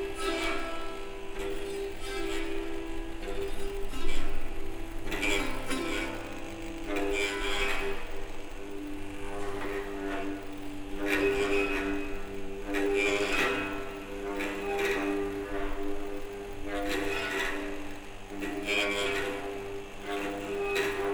Self-oscillating guitar 0:00.0 - 0:21.1

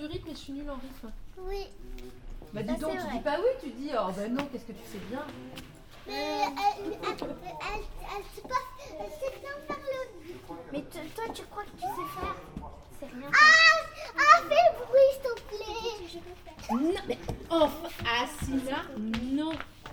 Chidren play, joke, and discuss with the employees 0:00.0 - 0:19.9

